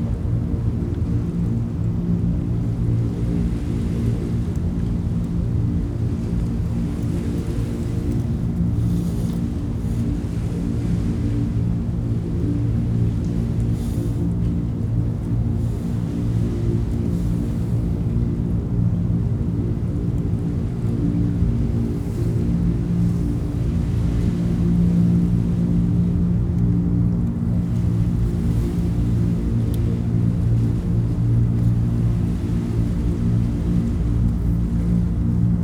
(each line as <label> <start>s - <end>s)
waves 0.0s - 35.6s